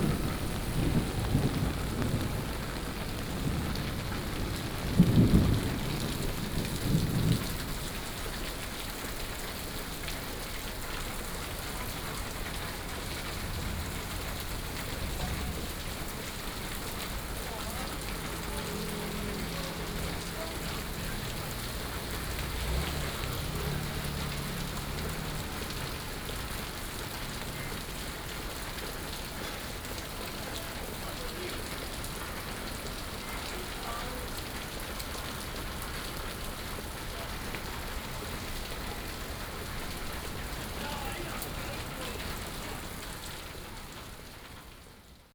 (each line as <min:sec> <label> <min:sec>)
0:00.0 Thunderstorm 0:31.0
0:00.0 Traffic Sound 0:44.8
0:00.0 Walking in the rain 0:45.3